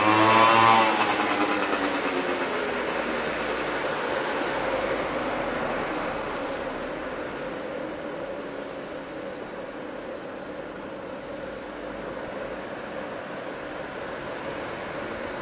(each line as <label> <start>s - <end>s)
moped 0.0s - 11.4s
Traffic jam 0.0s - 15.4s
bus 0.0s - 15.4s